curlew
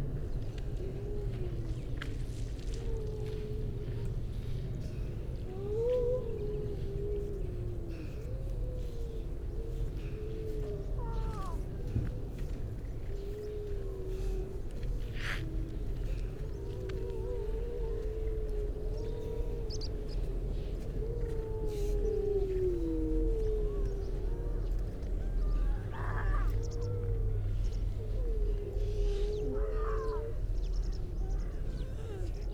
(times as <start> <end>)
15.1 32.5